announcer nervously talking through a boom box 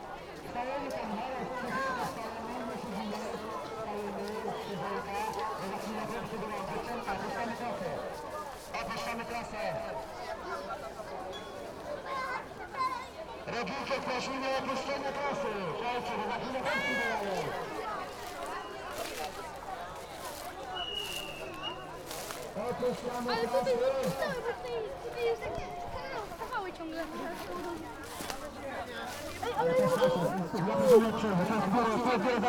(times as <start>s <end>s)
13.5s 17.7s, 29.5s 32.4s